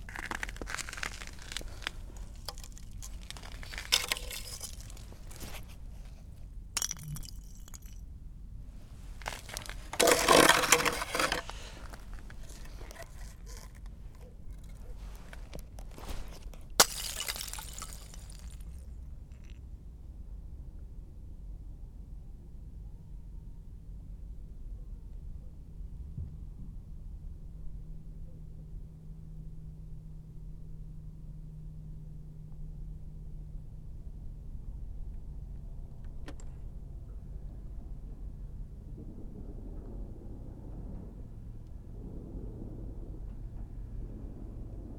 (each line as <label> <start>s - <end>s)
throwing ice 0.0s - 6.2s
throwing ice 6.8s - 8.0s
throwing ice 9.1s - 18.8s